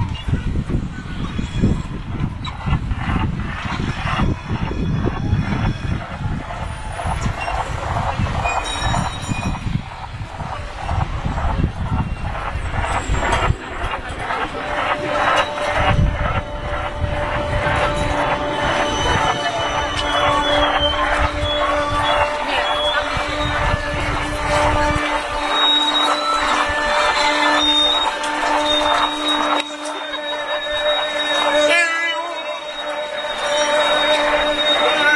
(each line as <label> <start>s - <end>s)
crowd 0.0s - 35.1s